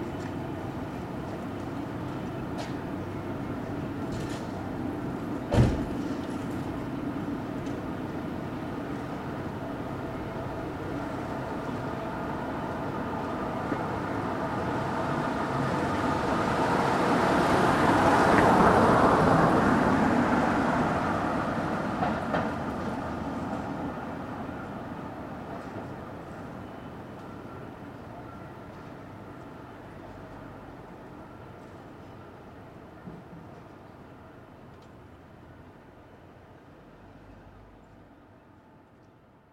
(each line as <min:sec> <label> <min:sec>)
0:00.0 Traffic 0:39.5
0:00.0 Wind 0:39.5